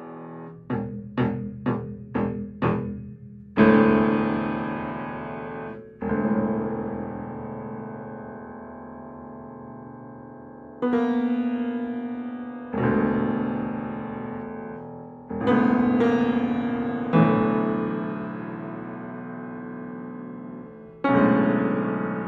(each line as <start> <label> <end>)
0.0 upright piano 22.2